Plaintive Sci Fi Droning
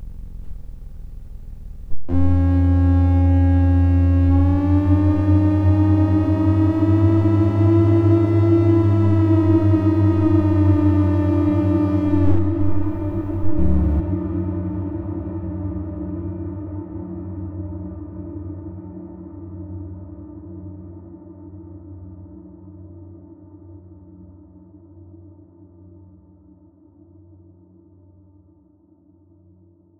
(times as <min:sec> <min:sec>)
0:00.0 0:14.1